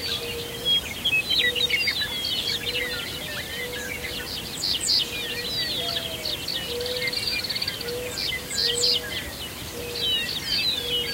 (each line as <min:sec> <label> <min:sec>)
0:00.0 lots of other birds 0:11.1
0:00.0 meadowlarks 0:11.1
0:00.0 mourning doves 0:11.1